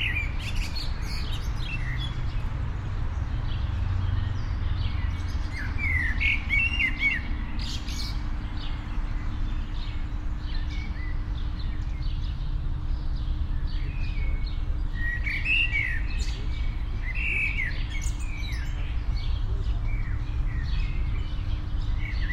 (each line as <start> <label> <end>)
0.0 birds 22.3
0.0 traffic 22.3